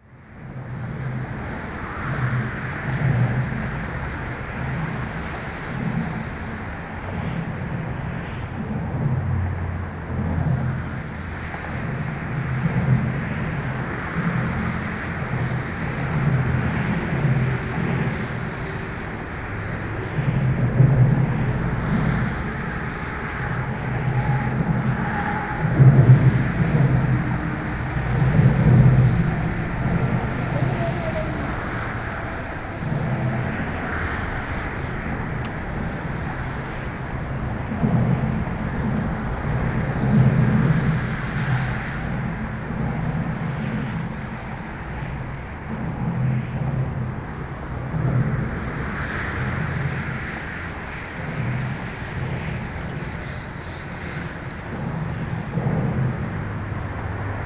0.0s traffic noise close to the bridge 57.4s

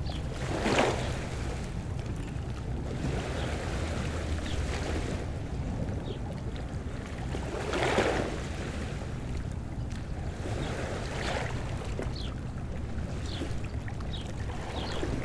0.0s water 15.2s
4.3s birds 4.8s
9.8s birds 12.5s
13.1s birds 15.2s

